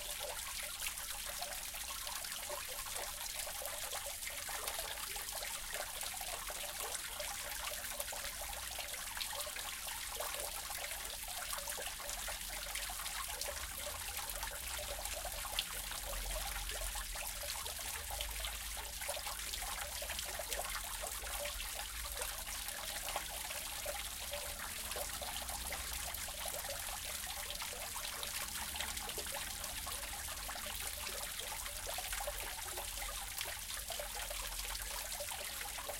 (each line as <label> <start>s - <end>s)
fountain 0.0s - 35.9s